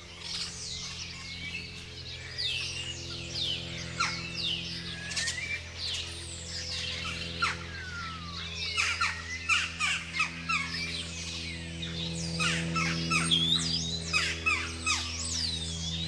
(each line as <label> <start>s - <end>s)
Airplane in BG 0.0s - 16.0s
other birds calling 0.0s - 16.0s
house-sparrows 0.0s - 16.0s